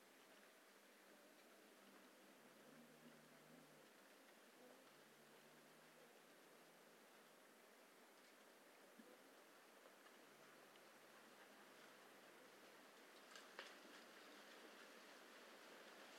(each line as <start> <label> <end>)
12.6 Oak leaves falling 16.1